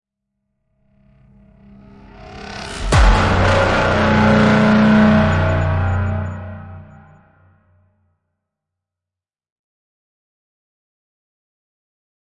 Cinematic impact 0:01.6 - 0:07.3

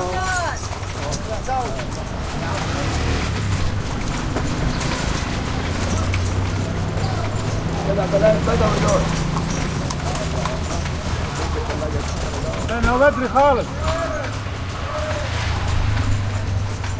Horse Carriage 0:00.0 - 0:16.9
traffic 0:00.0 - 0:16.9
crowd 0:05.1 - 0:16.9

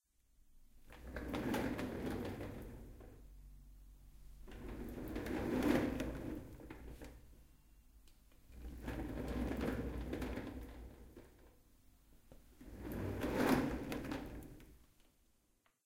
Office chair rolling 0:00.9 - 0:03.3
Office chair rolling 0:04.4 - 0:07.3
Office chair rolling 0:08.5 - 0:11.5
Office chair rolling 0:12.5 - 0:14.8

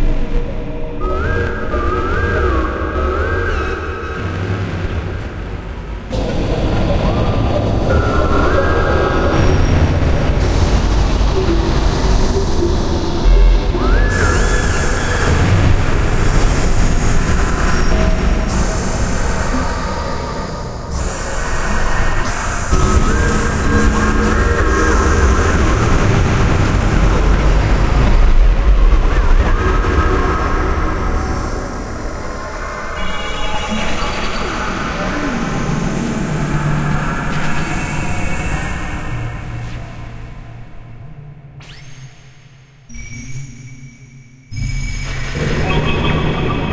voices 0:29.1 - 0:40.0

